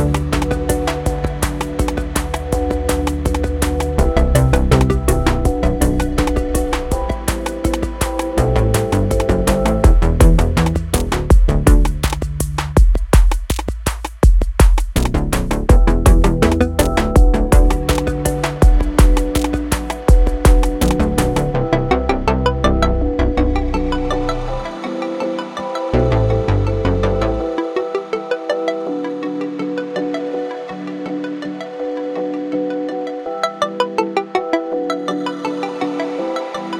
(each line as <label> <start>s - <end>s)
catchy melody 0.0s - 12.2s
Snappy beat 0.0s - 21.6s
catchy melody 15.7s - 36.7s